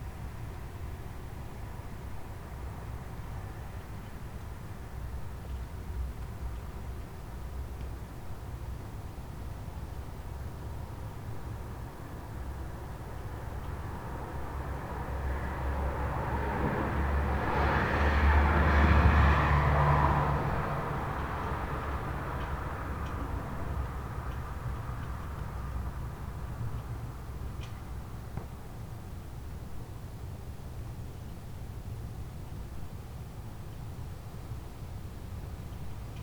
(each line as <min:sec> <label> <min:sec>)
0:00.0 night traffic 0:36.2